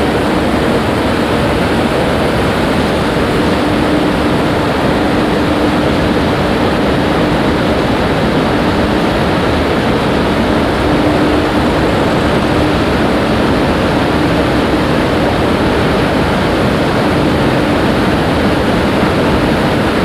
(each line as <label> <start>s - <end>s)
big 4 level high double moving staircase rolling empty 0.0s - 20.0s